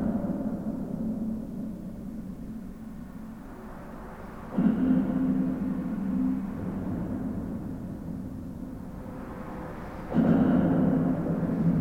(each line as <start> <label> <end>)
3.8 intense reverberation of the trucks crossing 11.8